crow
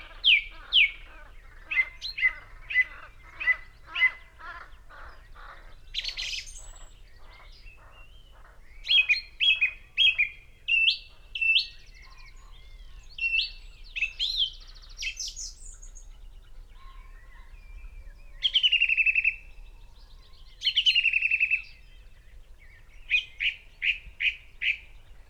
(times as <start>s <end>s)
0.0s 9.8s, 16.7s 17.6s